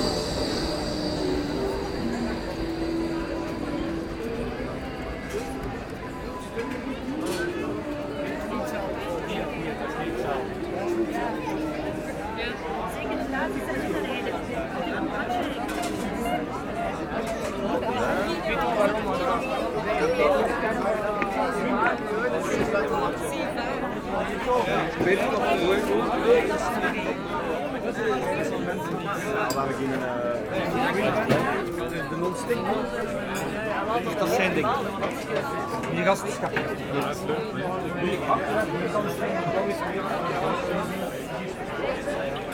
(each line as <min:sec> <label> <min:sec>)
0:00.0 tramways driving on a curve 0:07.8
0:00.0 street singers 0:14.5
0:00.0 very very very much tourists 0:42.5